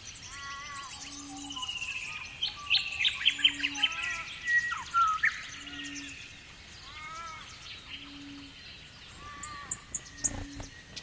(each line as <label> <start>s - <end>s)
frogs 0.0s - 11.0s
insects 0.0s - 11.0s
crow 0.2s - 6.1s
raven 0.3s - 2.3s
raven 6.8s - 10.8s
crow 6.8s - 8.5s
crow 9.1s - 10.7s
magpie warble 9.2s - 10.7s